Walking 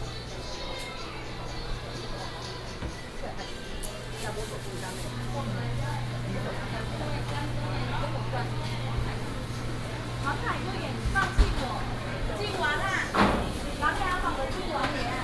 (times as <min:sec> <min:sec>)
0:03.8 0:15.2